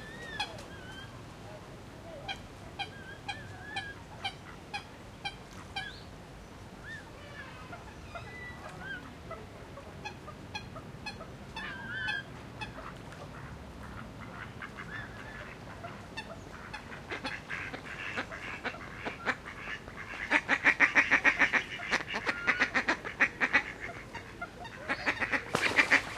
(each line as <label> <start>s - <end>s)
ducks 0.0s - 6.0s
ducks 6.8s - 26.1s